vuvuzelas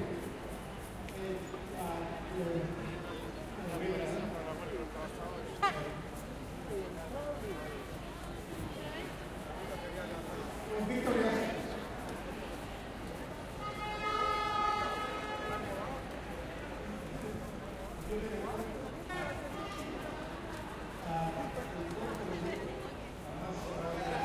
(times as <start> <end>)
5.6 6.2, 13.6 15.9